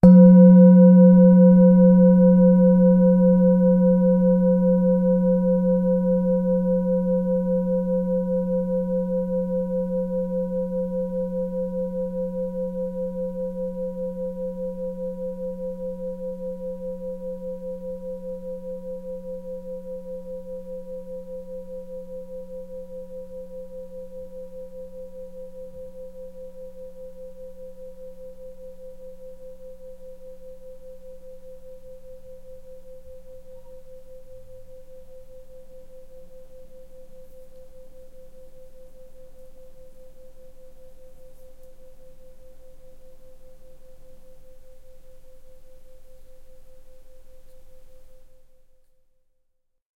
0.0s singing bowl - single strike 5.7s
33.5s singing bowl - single strike 34.8s

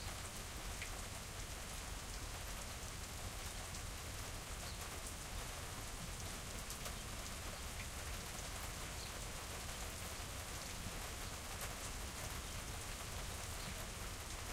0.0s Rain on a Country Porch 14.5s

